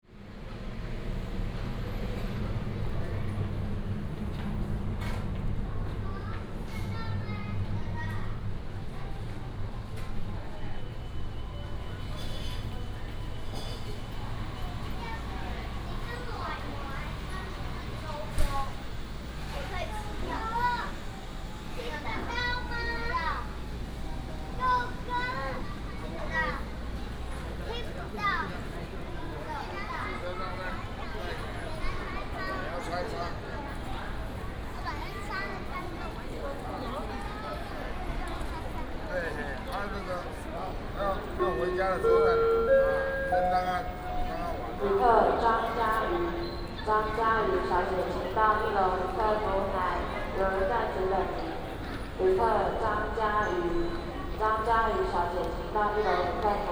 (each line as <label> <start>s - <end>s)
Walk in the station hall 0.0s - 56.7s
Station information broadcast 41.1s - 49.1s